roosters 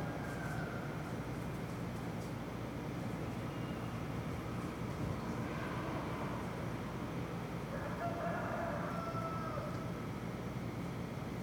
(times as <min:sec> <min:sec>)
0:00.0 0:01.3, 0:07.7 0:10.0